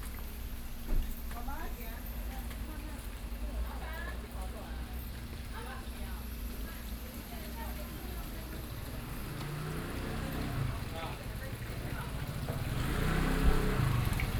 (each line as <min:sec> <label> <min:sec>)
0:00.0 Walking in a small alley 0:14.3